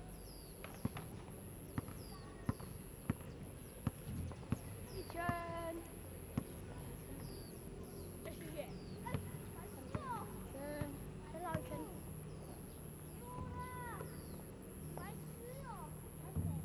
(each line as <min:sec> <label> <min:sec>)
0:00.0 Birdsong 0:15.8
0:00.0 group of children in the playground 0:16.6